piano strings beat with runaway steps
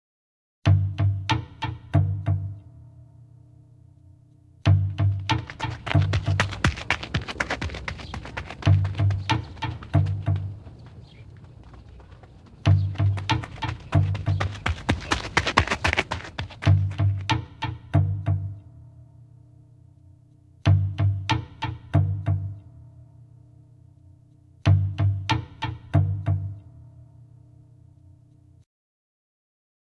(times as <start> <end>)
4.7 11.2, 12.6 18.3